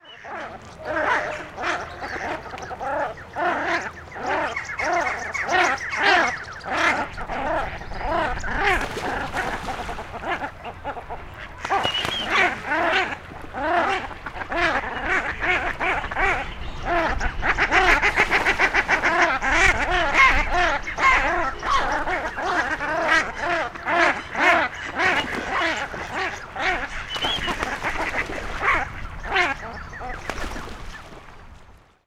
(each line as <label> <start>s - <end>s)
Splash 8.6s - 10.5s
Splash 11.5s - 14.8s
Splash 24.5s - 28.8s
Splash 29.4s - 31.4s